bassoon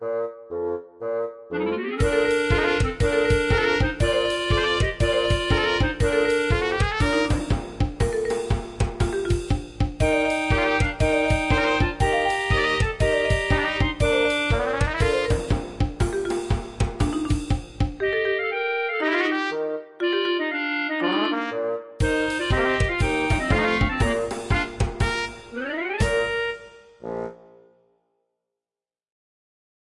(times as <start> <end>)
0.0 7.8, 10.0 15.8, 18.0 27.7